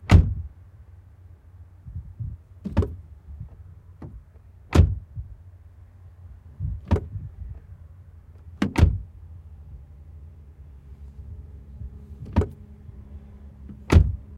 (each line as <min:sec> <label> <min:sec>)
0:00.0 Renault Duster door open and close outside 0:00.5
0:01.9 Renault Duster door open and close outside 0:05.4
0:06.5 Renault Duster door open and close outside 0:09.2
0:11.2 Renault Duster door open and close outside 0:14.3